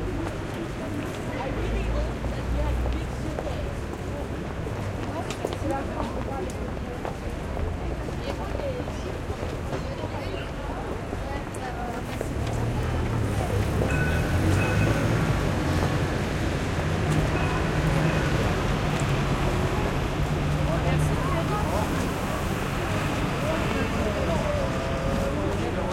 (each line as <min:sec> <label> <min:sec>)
0:00.0 People are walking and talking on the pavement 0:25.9
0:00.0 Traffic 0:25.9